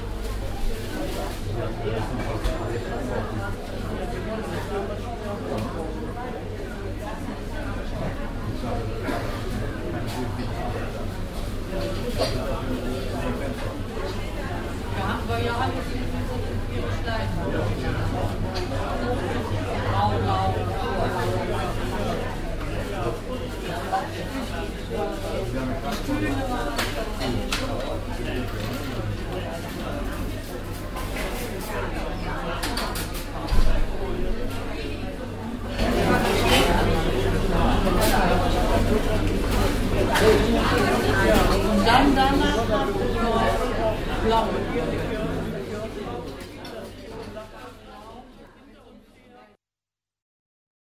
people 0:00.0 - 0:49.6

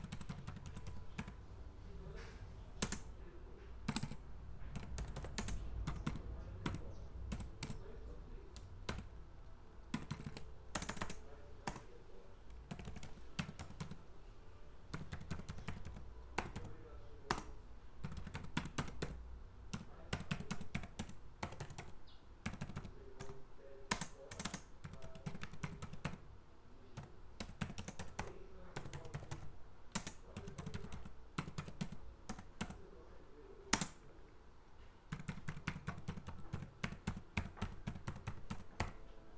teclas do notebook 0:00.0 - 0:39.3

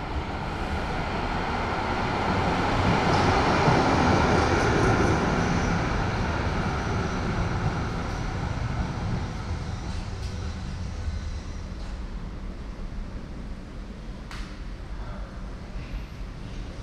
Trains driving in 0:00.0 - 0:16.8

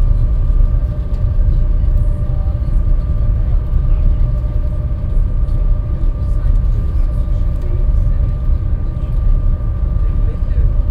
people talking in the sea bus cabin 0:00.0 - 0:10.9

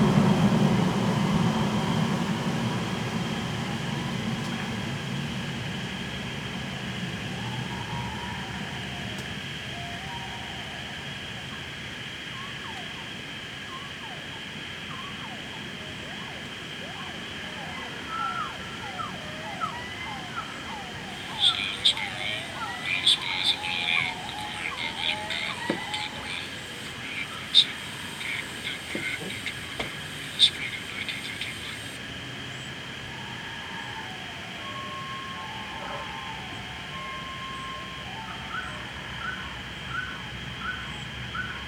birdsongs 0:06.9 - 0:41.6
Gunn can be heard introducing a recording 0:20.3 - 0:32.0

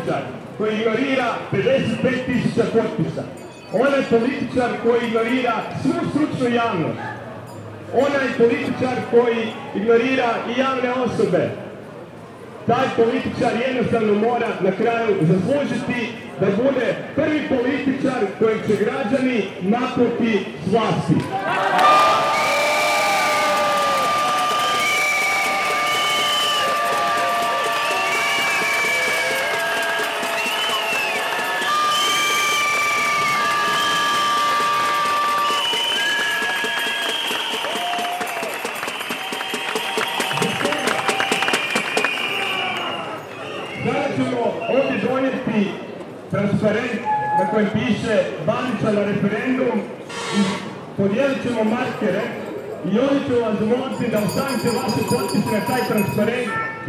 reactions of citizens 0:21.2 - 0:45.0

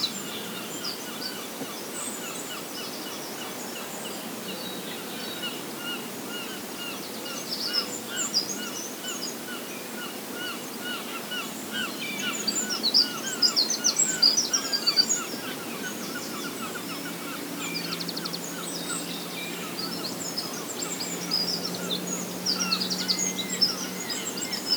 traffic/farm noises 0:16.6 - 0:24.7

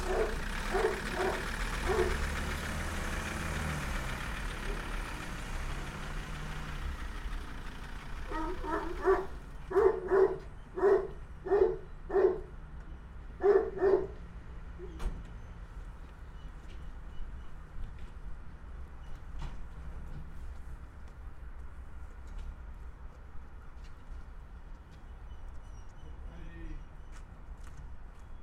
dogs 0:00.0 - 0:02.3
tractor (pneumatic pump) 0:00.0 - 0:10.7
dogs 0:08.3 - 0:12.6
dogs 0:13.4 - 0:14.2
tractor (pneumatic pump) 0:14.0 - 0:18.3

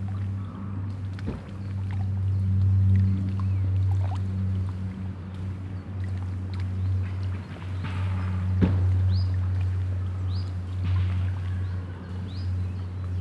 water 0:00.0 - 0:13.2

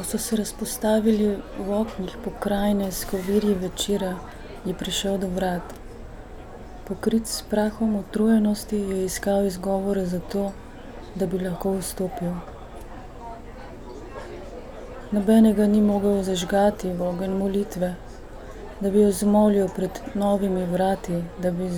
reading fragment of poem 0:00.0 - 0:05.8

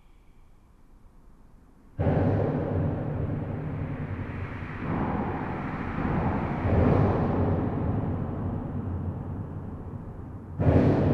trucks drive on the expansion joint 0:02.0 - 0:11.1

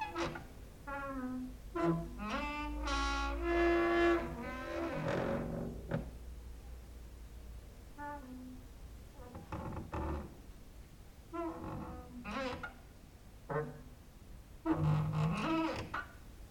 creaking with wooden doors 0:00.0 - 0:06.2
creaking with wooden doors 0:09.2 - 0:10.4
creaking with wooden doors 0:11.4 - 0:12.8
creaking with wooden doors 0:13.5 - 0:13.9
creaking with wooden doors 0:14.6 - 0:16.2

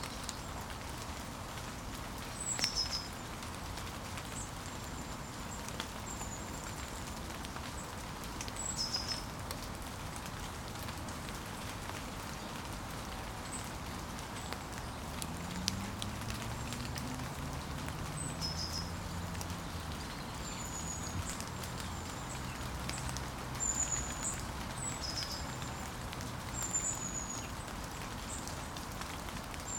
falling rain 0:00.0 - 0:29.7
Birdsong 0:13.4 - 0:28.5

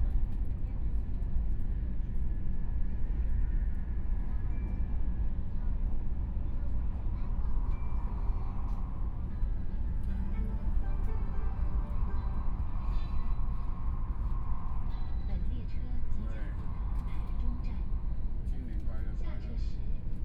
High Speed Rail 0:00.0 - 0:20.2

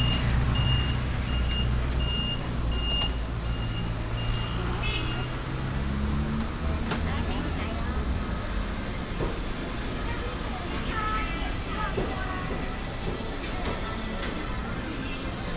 traffic sound 0:00.0 - 0:15.5

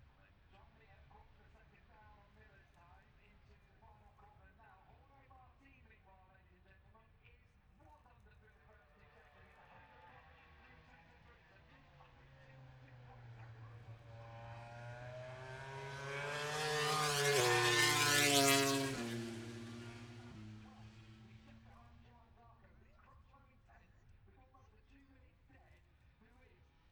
moto grand prix free practice three 0:09.3 - 0:22.8

